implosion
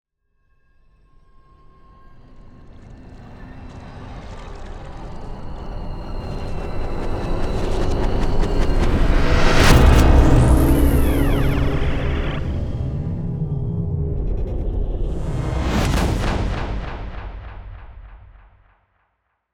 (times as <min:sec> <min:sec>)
0:08.0 0:18.7